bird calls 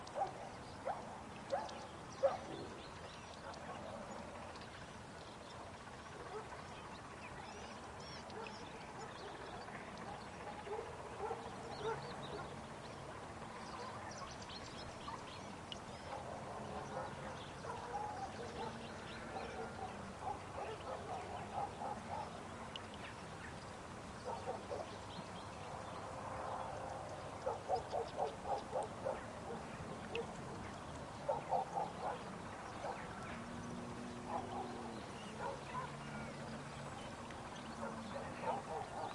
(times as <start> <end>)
6.2 12.6, 13.6 25.4, 27.4 39.1